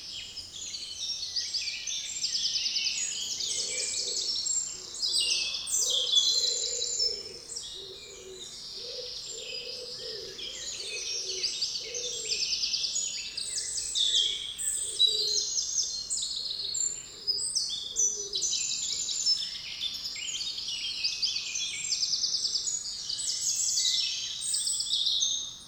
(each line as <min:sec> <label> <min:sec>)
0:00.0 Common blackbird 0:25.6
0:00.0 Common robin 0:25.6
0:00.0 European Green Woodpecker 0:25.6
0:02.8 Common Wood Pigeon 0:19.1